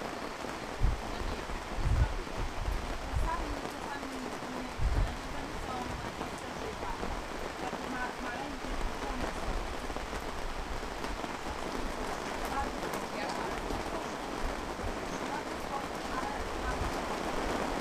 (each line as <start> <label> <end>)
0.0 heavy rain 17.8